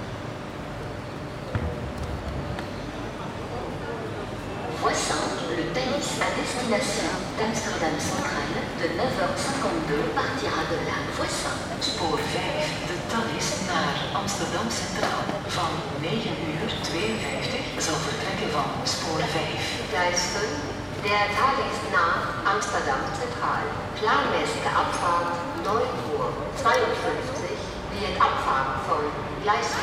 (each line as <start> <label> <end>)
0.4 conversations on the platform 29.8